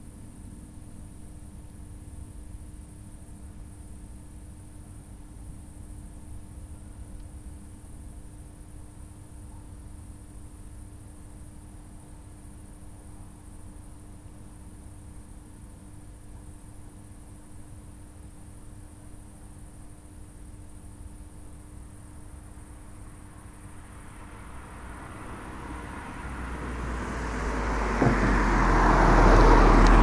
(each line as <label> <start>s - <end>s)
tranformer 23.0s - 30.0s